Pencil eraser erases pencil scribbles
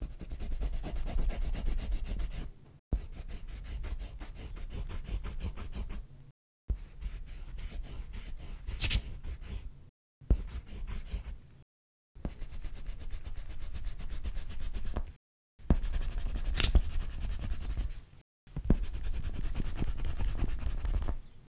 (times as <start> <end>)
6.9 9.7